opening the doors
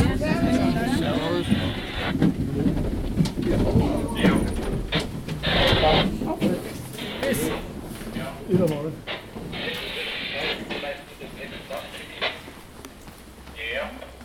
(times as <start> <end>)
0.0 10.2